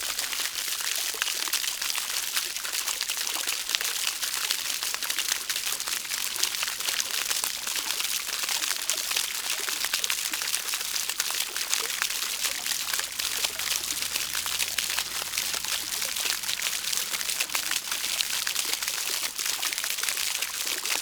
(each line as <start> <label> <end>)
5.2 water splats 21.0